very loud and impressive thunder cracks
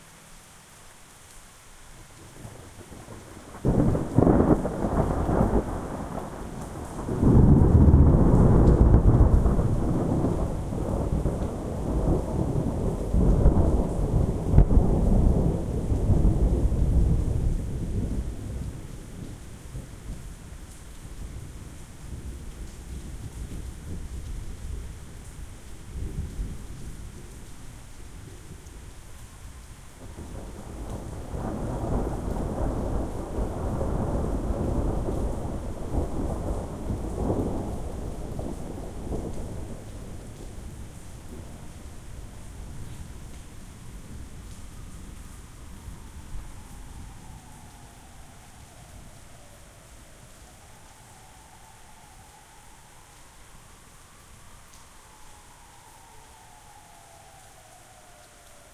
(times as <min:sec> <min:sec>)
0:03.5 0:18.2